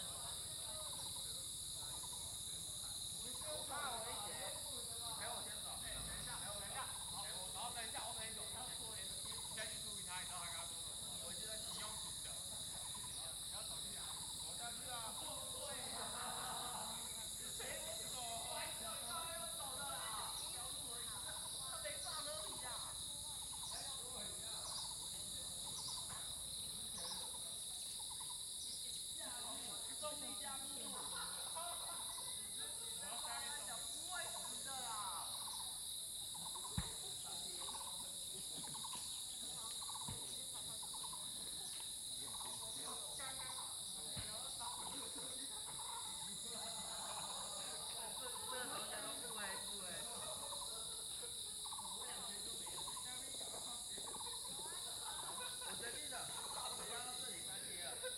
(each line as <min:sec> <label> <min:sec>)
0:00.0 Cicada sounds 0:58.1
0:20.1 Bird sounds 0:29.0